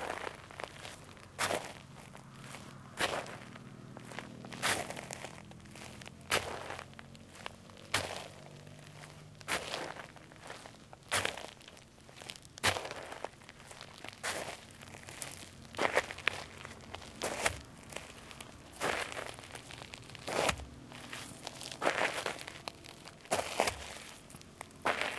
steps on gravel 0:00.0 - 0:25.1

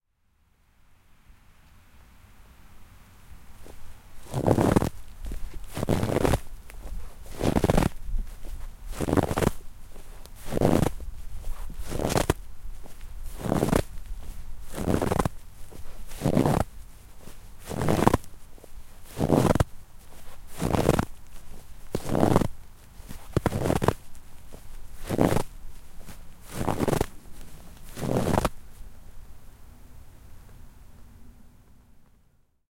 walking in snow 0:03.5 - 0:29.0

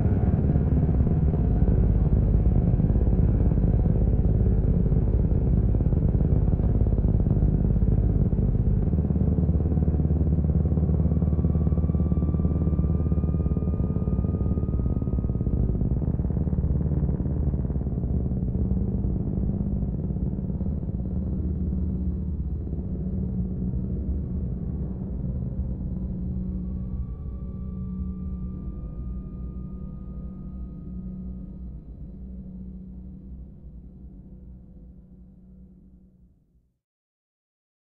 drone 0:00.0 - 0:35.9

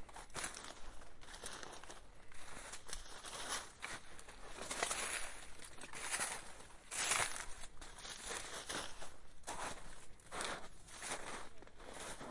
snow crunches underfoot 0:00.3 - 0:12.3

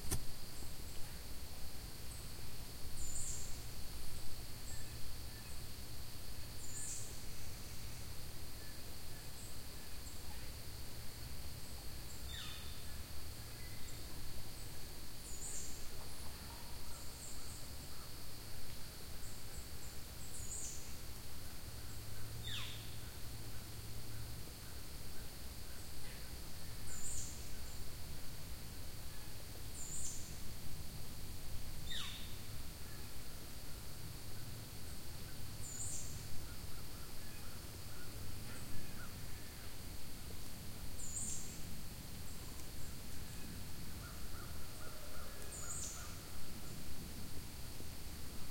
insects 0:00.0 - 0:48.5
birds 0:42.3 - 0:46.5

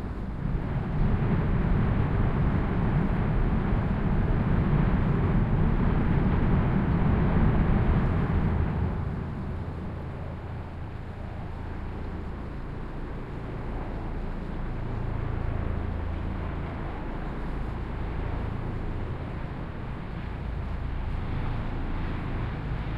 helicopter 0:00.0 - 0:22.9
sounds of the city 0:00.0 - 0:22.9

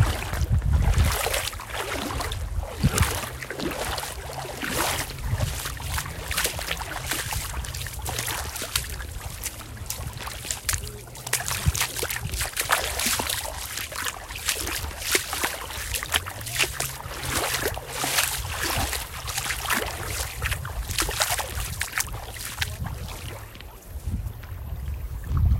Footsteps splash 0:00.0 - 0:25.0
ocean 0:00.0 - 0:25.5

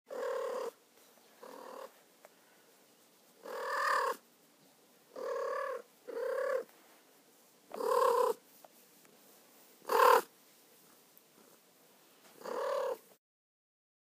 Cat trilling 0:00.1 - 0:00.8
Cat trilling 0:03.4 - 0:04.2
Cat trilling 0:05.2 - 0:06.7
Cat trilling 0:07.7 - 0:08.4
Cat trilling 0:09.9 - 0:10.3
Cat trilling 0:12.4 - 0:13.1

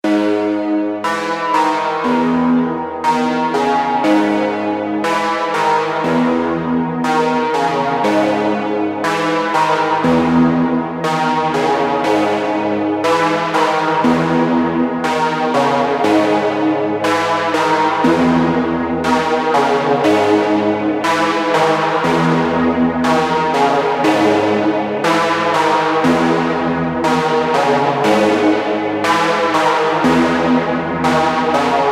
Modular synth with looping notes and gradual detuning 0:00.0 - 0:31.9

